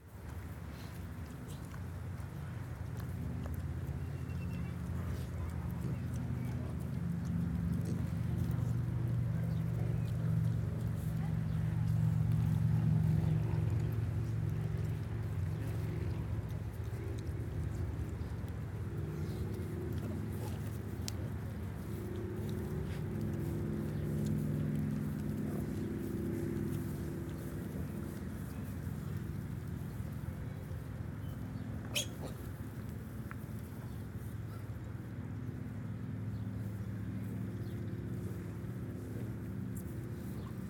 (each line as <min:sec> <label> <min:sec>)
0:00.0 Berkshire sow and piglets 0:40.6
0:31.8 little squealy noises of the babies 0:32.5